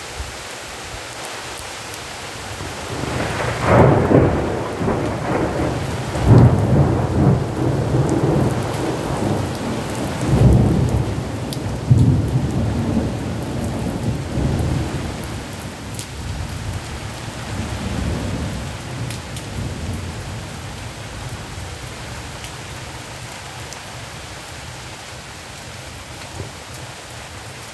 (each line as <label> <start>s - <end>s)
Heavy Rain 0.0s - 27.7s
rolling thunder 2.6s - 21.7s